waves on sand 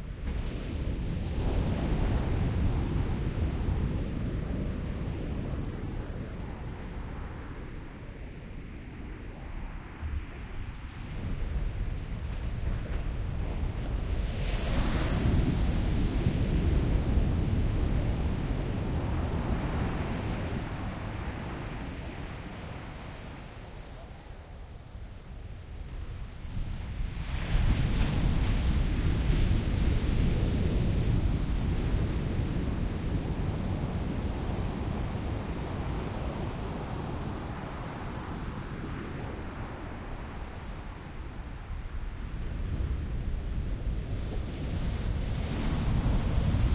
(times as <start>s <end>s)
0.1s 6.1s, 12.4s 23.9s, 27.1s 46.7s